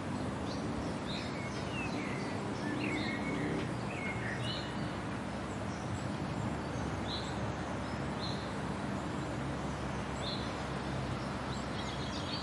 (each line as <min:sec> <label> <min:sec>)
0:00.0 water birds 0:12.4